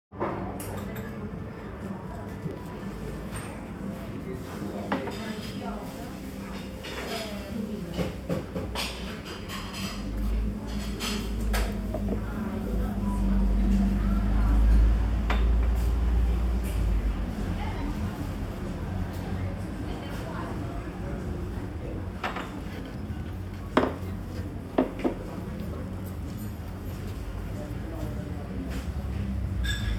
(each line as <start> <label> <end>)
3.4 voices 25.9